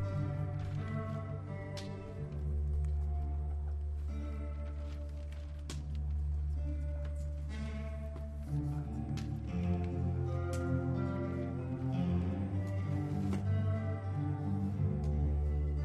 playing the tapes 0:00.0 - 0:15.8

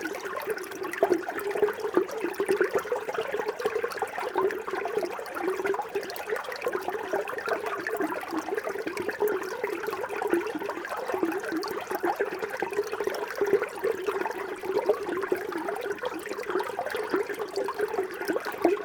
water stream is busting in a pipe 0:00.0 - 0:18.8

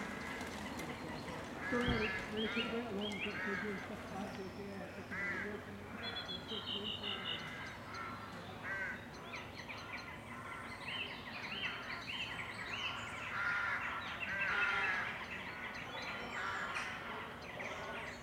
Crows 0:00.0 - 0:04.3
other birds squawking 0:00.0 - 0:04.3
Crows 0:05.0 - 0:09.1
other birds squawking 0:05.0 - 0:09.1
Crows 0:09.7 - 0:12.2
Crows 0:12.8 - 0:18.2
other birds squawking 0:12.9 - 0:15.7

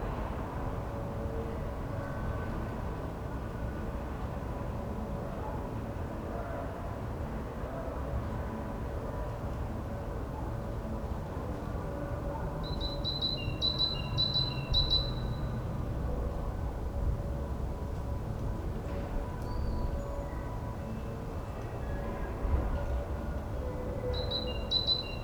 city sounds from afar 0:00.0 - 0:25.2
distant church bells 0:00.0 - 0:06.1
sounds of nearby market 0:00.0 - 0:25.2
distant church bells 0:09.7 - 0:25.2
solitude bird 0:24.2 - 0:25.2

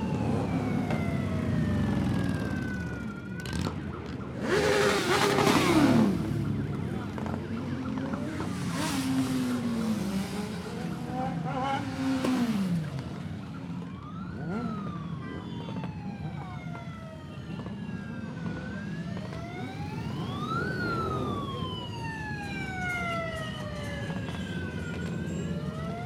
crowds cheering the bikers 0:00.1 - 0:26.0

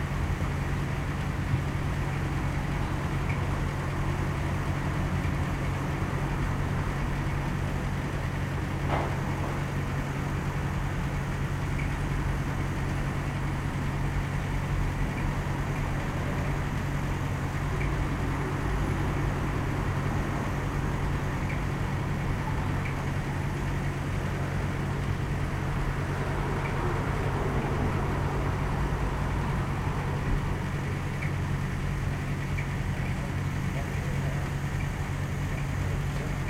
sounds from the street 0:00.0 - 0:36.4

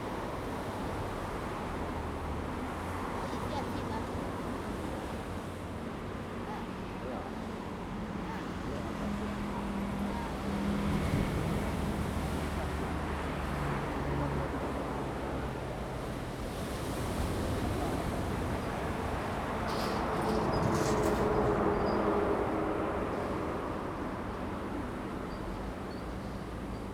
Traffic Sound 0:00.3 - 0:26.9

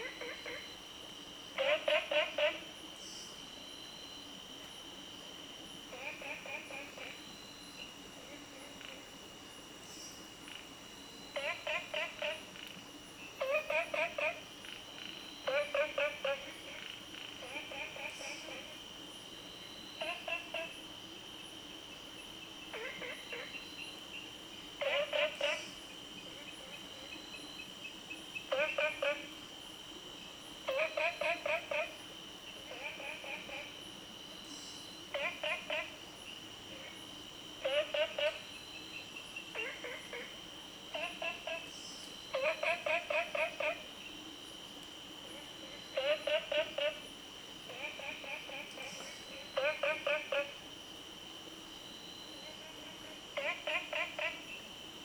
Frog Sound 0:00.0 - 0:00.8
Frog Sound 0:01.5 - 0:02.8
Frog Sound 0:05.9 - 0:07.3
Frog Sound 0:08.2 - 0:09.2
Frog Sound 0:11.3 - 0:12.8
Frog Sound 0:13.4 - 0:18.8
Frog Sound 0:20.0 - 0:20.9
Frog Sound 0:22.6 - 0:24.2
Frog Sound 0:24.8 - 0:27.4
Frog Sound 0:28.1 - 0:29.4
Frog Sound 0:30.6 - 0:33.8
Frog Sound 0:34.6 - 0:44.1
Frog Sound 0:45.2 - 0:50.7
Frog Sound 0:52.3 - 0:54.8

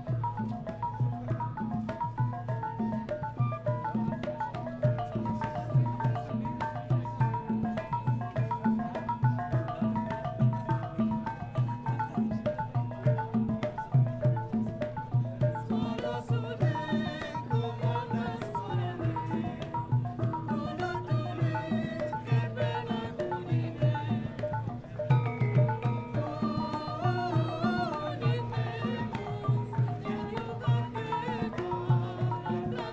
gamelan ensemble 0:00.0 - 0:32.9

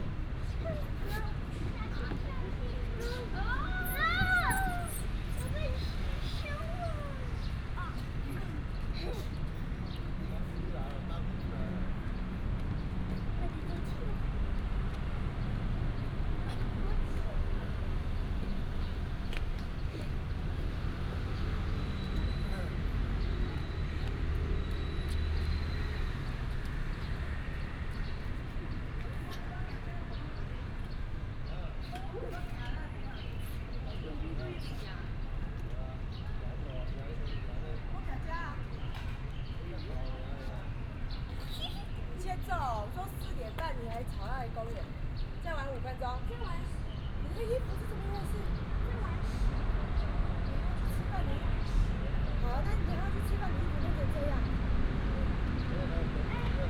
Traffic sound 0:00.0 - 0:56.6
walking in the Park 0:00.0 - 0:56.6
Child 0:00.5 - 0:09.4

